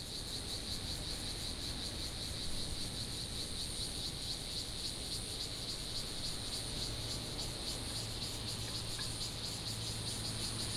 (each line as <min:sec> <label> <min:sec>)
0:00.0 Cicadas sound 0:10.7